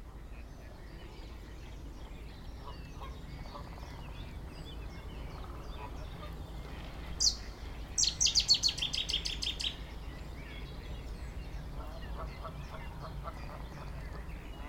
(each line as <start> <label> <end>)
0.0 Common Blackbird 14.6
0.0 Common Chaffinch 14.6
0.0 Common Moorhen 14.6
0.0 plane 14.6
2.6 Mallard ducks 4.1
2.6 Mute swans 14.6
5.3 Mallard ducks 9.9
11.8 Canada geese 14.6
11.8 Mallard ducks 14.6